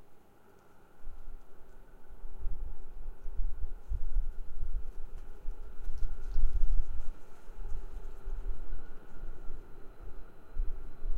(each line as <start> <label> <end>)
0.0 Wind 11.1